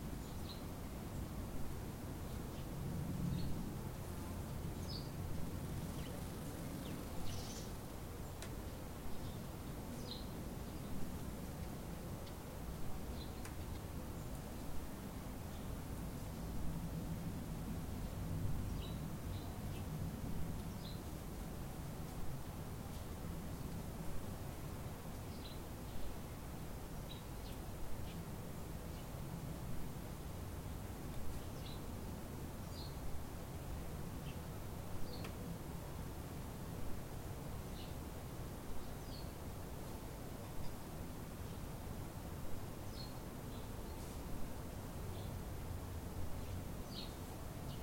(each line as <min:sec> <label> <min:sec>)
0:00.2 birds 0:16.7
0:34.2 birds 0:35.5
0:37.5 birds 0:38.1
0:38.7 birds 0:41.7
0:46.3 birds 0:47.8